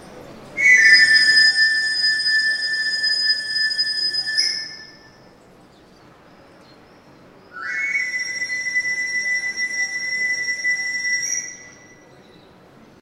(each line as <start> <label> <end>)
0.0 streetnoise 13.0
0.6 whistle used by an itinerant knife sharpener 5.2
7.5 whistle used by an itinerant knife sharpener 12.2